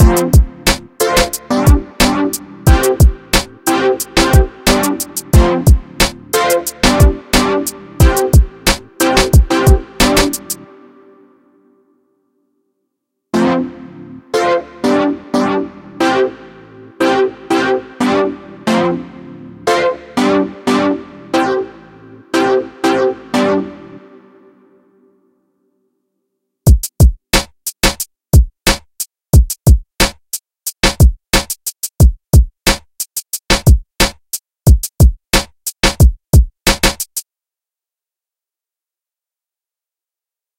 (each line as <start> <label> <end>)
0.0 beat 10.6